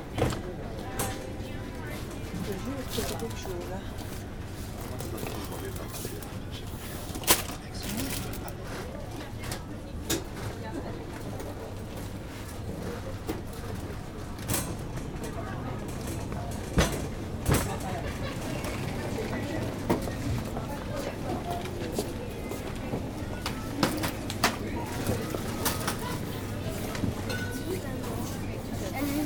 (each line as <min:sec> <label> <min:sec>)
0:00.8 people prepairing sushis 0:09.4
0:02.4 clients buying bottles 0:08.8
0:21.6 people prepairing sushis 0:29.2